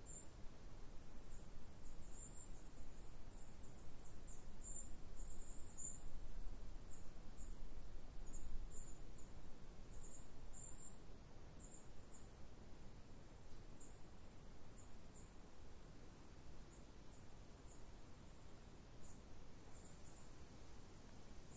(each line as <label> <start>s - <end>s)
Forest birds 0.0s - 21.5s
light breeze 0.0s - 21.5s